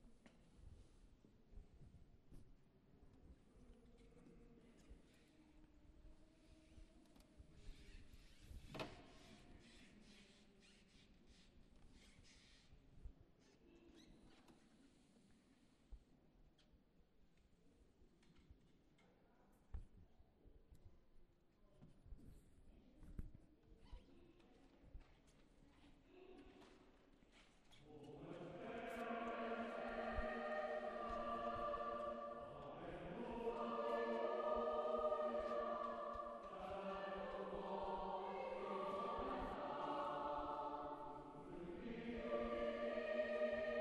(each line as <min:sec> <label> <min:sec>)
0:27.9 choir concert 0:43.8